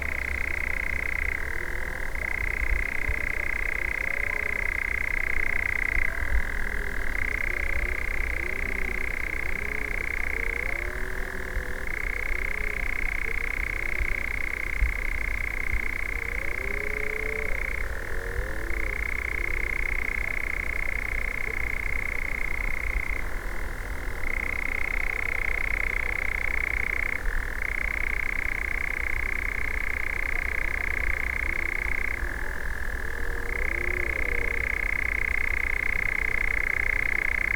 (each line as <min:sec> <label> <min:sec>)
0:00.0 European nightjar 0:37.5